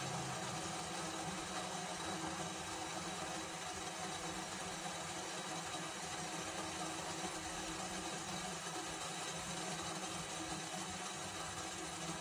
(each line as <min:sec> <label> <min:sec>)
0:00.0 water boiling in kettle 0:12.2